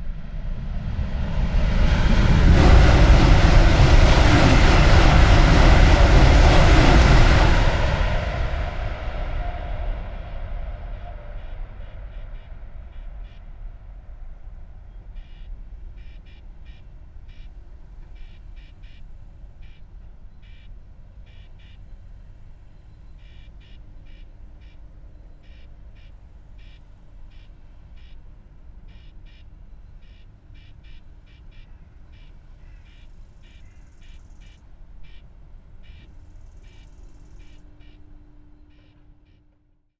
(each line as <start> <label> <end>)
0.0 train rushes through at high speed 18.3
33.3 train rushes through at high speed 39.3